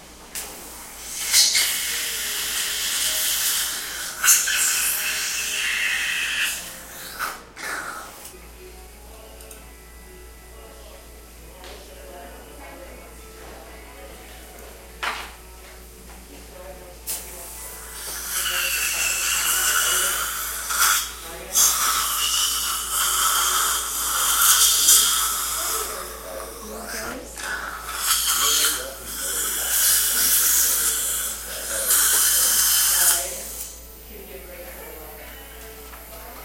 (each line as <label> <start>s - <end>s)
teeth cleaning 1.0s - 8.3s
teeth cleaning 17.8s - 33.8s